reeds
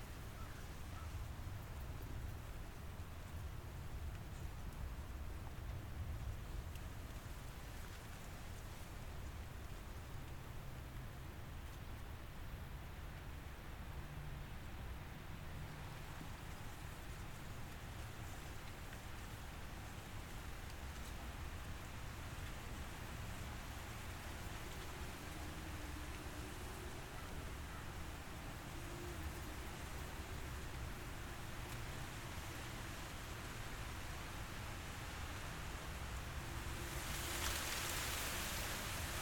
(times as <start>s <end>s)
36.4s 39.2s